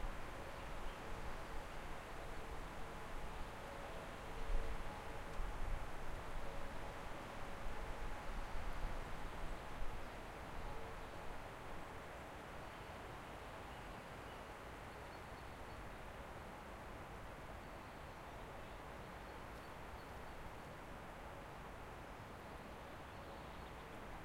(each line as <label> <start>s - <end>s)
nature 0.0s - 24.2s